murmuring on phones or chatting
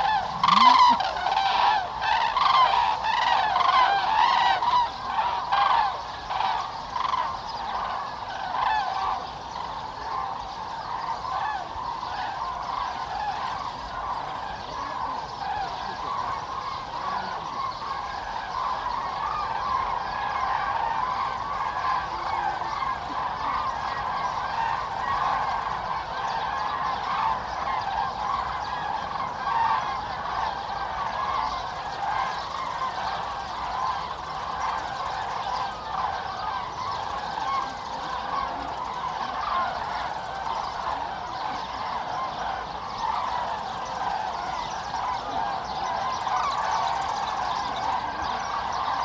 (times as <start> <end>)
0.0 1.4